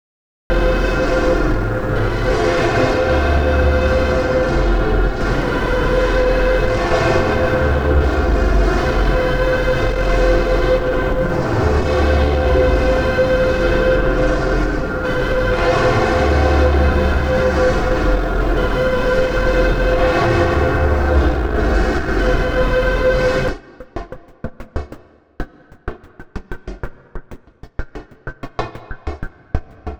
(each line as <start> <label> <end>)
0.5 synth 23.6